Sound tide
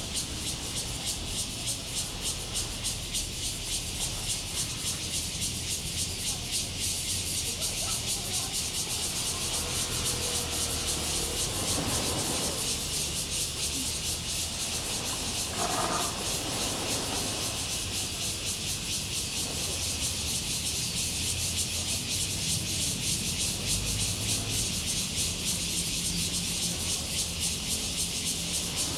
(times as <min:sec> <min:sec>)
0:10.7 0:19.8